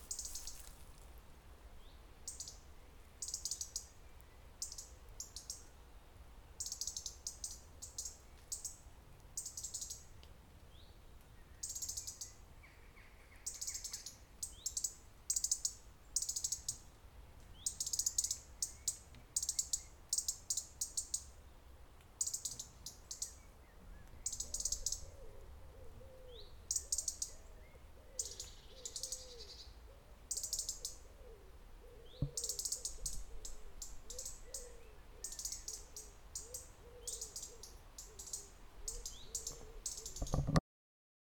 Walking through some dry grass 0.0 - 1.6
birds in the trees 0.0 - 40.6

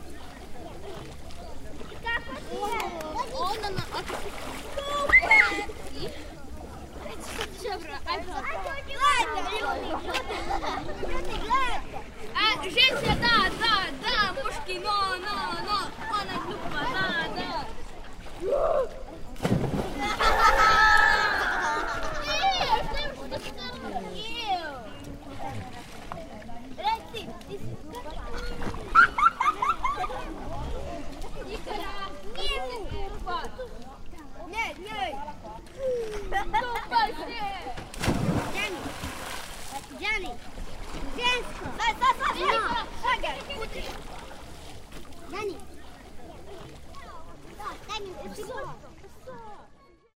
Children playing and swimming 0.0 - 50.1

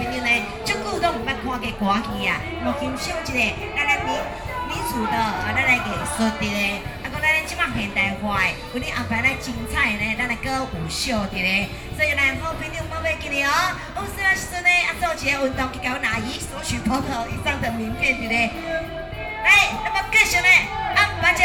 Taiwanese opera 0.0 - 21.4

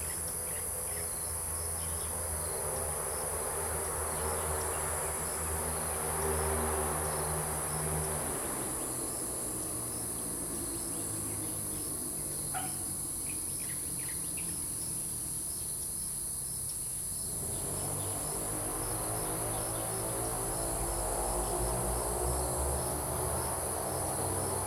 Traffic Sound 0.0 - 15.3
Traffic Sound 17.2 - 24.6

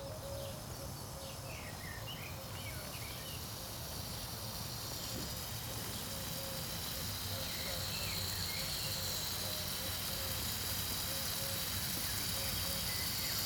watering devices 3.3 - 13.4

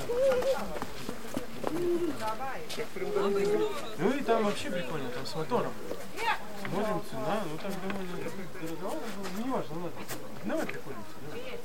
drunken roussian tourists 0.0 - 11.6

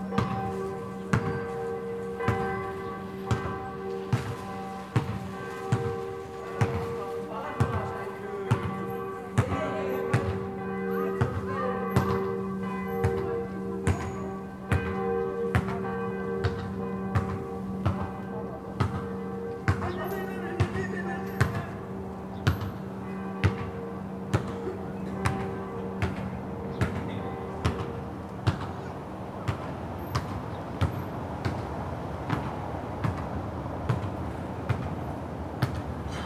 church bells 0.0 - 32.2

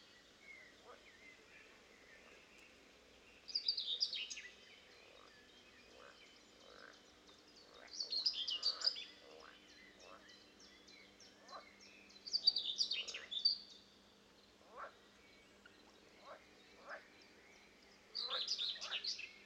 birds 0.0 - 19.4
wind 0.0 - 19.4
frogs 0.8 - 1.8
frogs 5.0 - 10.4
frogs 11.4 - 11.7
frogs 14.6 - 15.0
frogs 16.2 - 17.1
frogs 18.2 - 19.4

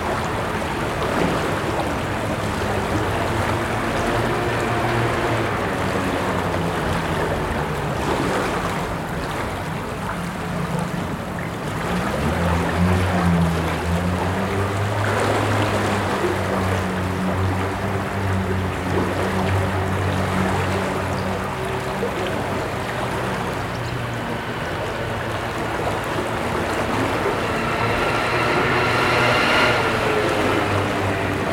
water Sound 0.0 - 31.5
trafic Sound road 21.3 - 31.5

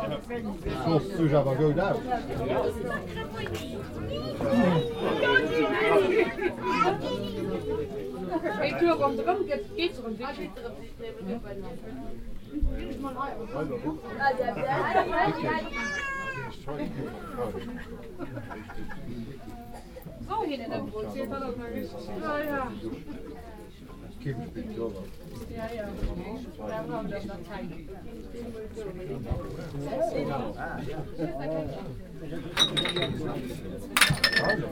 conversations of the local fans and visitors 0.0 - 34.7

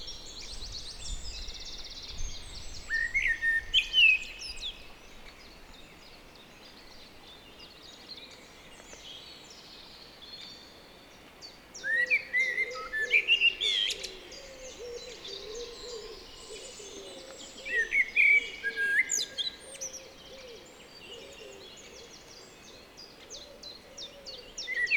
river 0.0 - 24.9
blackbird 11.8 - 24.9

